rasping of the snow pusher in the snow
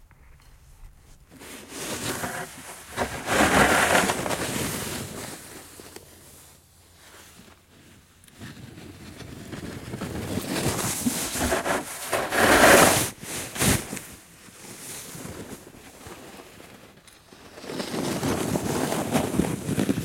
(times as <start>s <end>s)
1.4s 5.9s, 8.5s 14.0s, 17.5s 20.0s